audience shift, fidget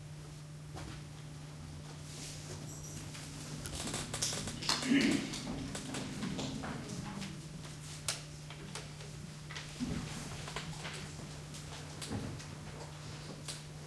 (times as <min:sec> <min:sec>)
0:02.4 0:11.7